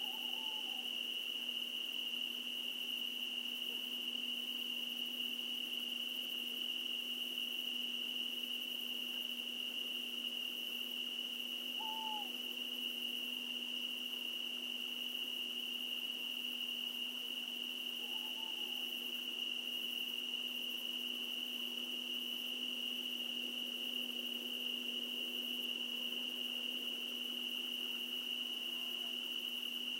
owl 0.0 - 1.0
strong cricket chorus 0.0 - 29.9
owl 11.7 - 12.4
owl 18.0 - 18.9

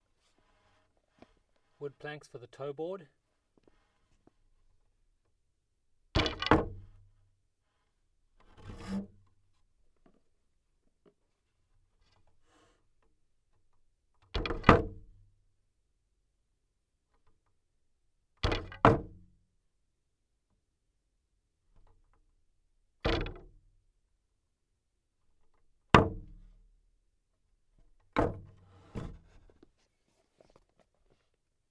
wood board hit 6.2 - 6.8
wood board hit 28.2 - 29.4

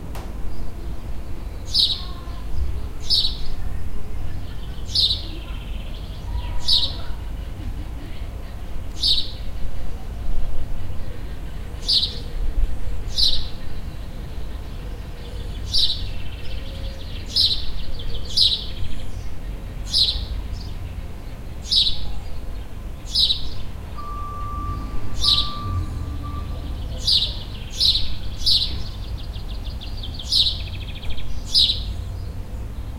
birds 0.2 - 32.9

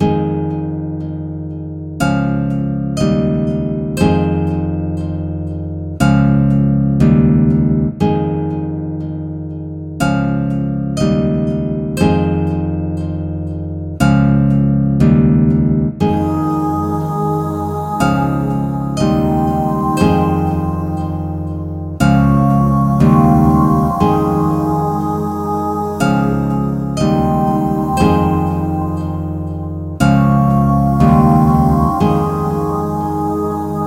gentle loopable acoustic guitar riff 0.0 - 33.8
4 bit pad 16.1 - 33.8

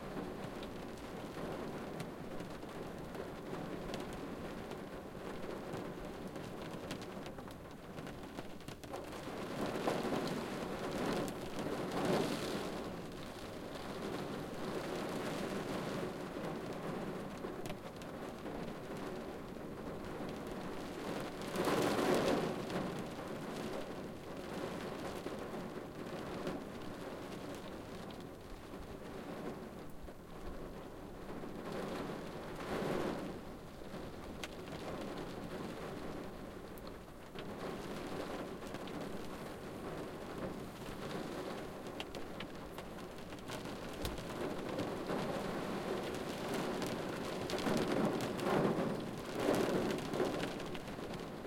Rain From Inside a Car 0.0 - 51.4
wind 0.0 - 51.4

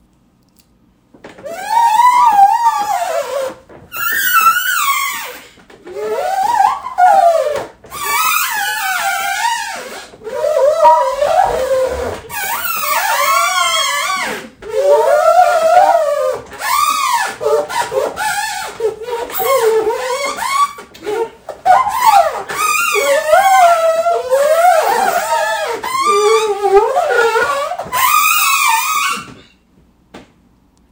rubbing fingers on waxed table 10.4 - 12.6

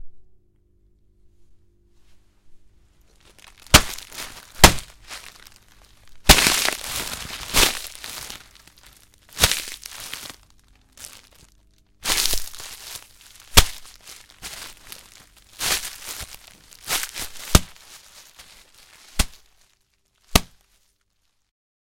punch Face 3.4 - 5.5
punch Face 6.2 - 8.8
punch Face 9.4 - 10.4
punch Face 12.1 - 19.5
punch Face 20.3 - 20.6

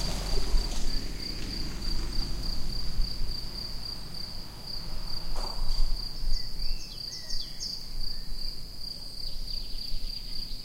noise of a passing car 0.0 - 7.4
Singing Birds 5.4 - 10.6

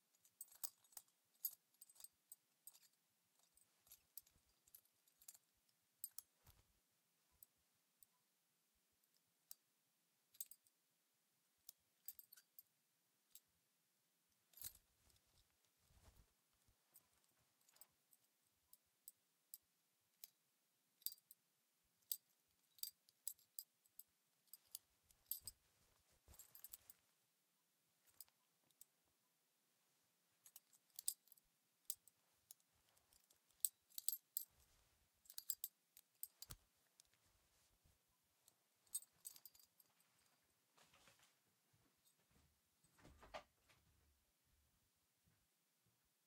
Clothing 0.0 - 6.8
Clothing 14.5 - 18.3
Clothing 22.0 - 27.3
Clothing 27.9 - 29.0
Clothing 29.8 - 44.0

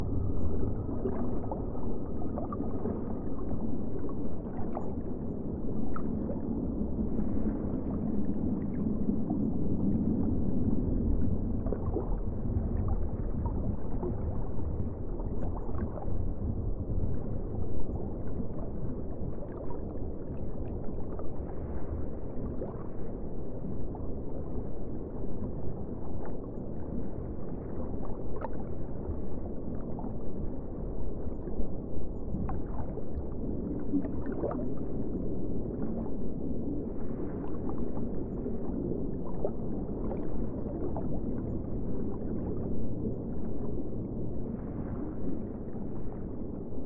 Water and wave sounds 0.0 - 46.8
low ambience in the background 0.0 - 46.8

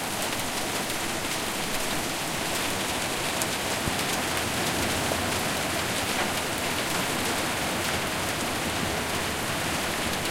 Light rain 0.0 - 10.3

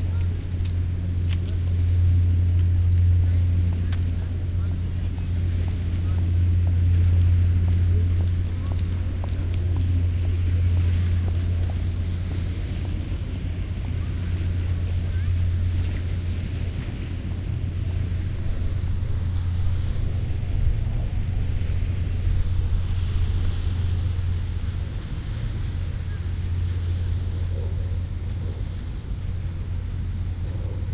people 0.0 - 18.6

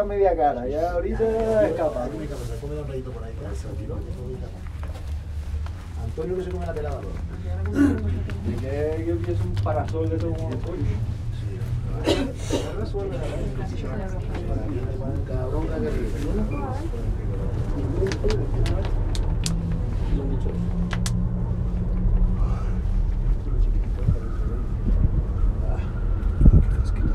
background chatter in various languages 0.0 - 27.1
cable car journey 1.2 - 27.1

